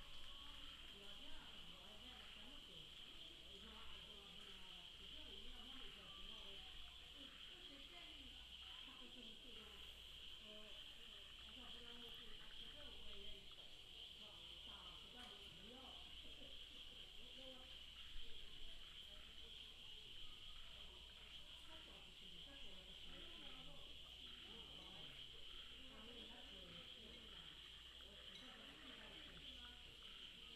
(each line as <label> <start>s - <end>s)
Frog croak 0.0s - 30.5s
Insect cry 0.0s - 30.5s